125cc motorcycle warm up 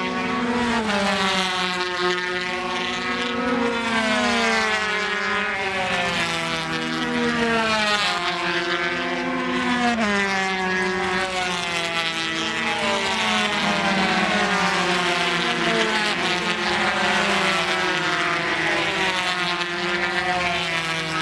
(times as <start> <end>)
10.0 21.2